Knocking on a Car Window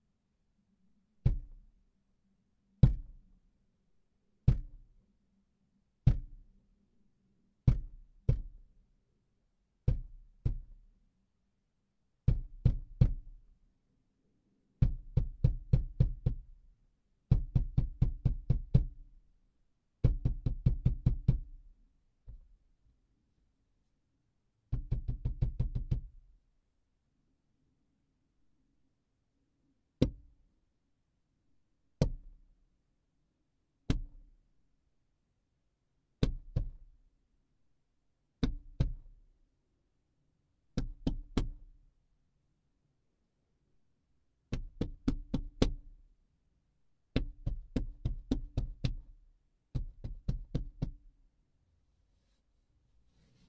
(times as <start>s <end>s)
20.0s 21.4s, 24.7s 26.1s, 44.5s 45.8s